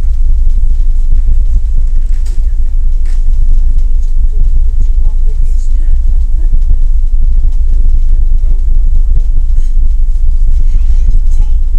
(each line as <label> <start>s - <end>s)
muffled ferry engine 0.0s - 11.7s
people talking 1.2s - 8.4s